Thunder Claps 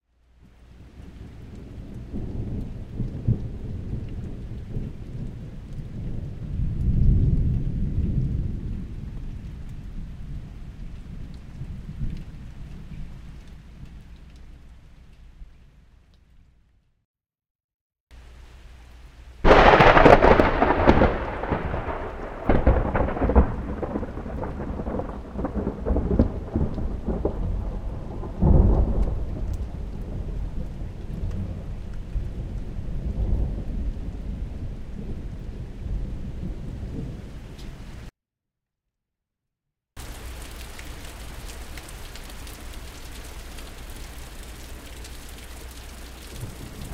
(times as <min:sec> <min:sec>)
0:19.5 0:37.2